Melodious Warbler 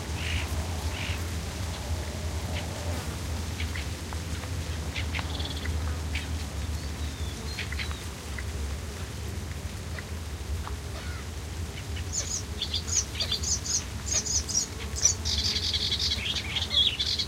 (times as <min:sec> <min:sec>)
0:11.8 0:17.2